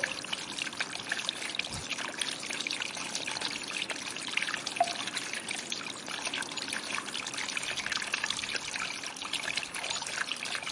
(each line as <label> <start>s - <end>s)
Leaking drainage system 0.0s - 10.7s
draft coming through the whole building 0.0s - 10.7s
water dripping from the ceiling 0.0s - 10.7s